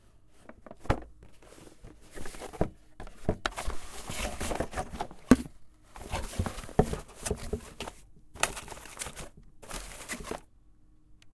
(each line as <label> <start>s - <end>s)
Cardboard Box Rustle 0.4s - 10.5s
Opening cardboard box 2.0s - 10.5s